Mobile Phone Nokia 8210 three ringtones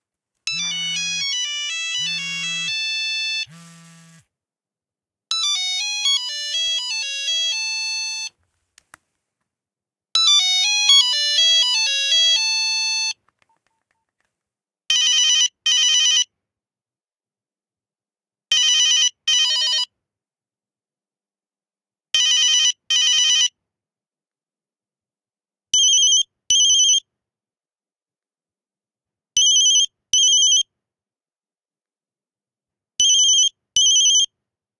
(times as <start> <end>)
0.5 4.2, 5.3 8.3, 10.2 13.2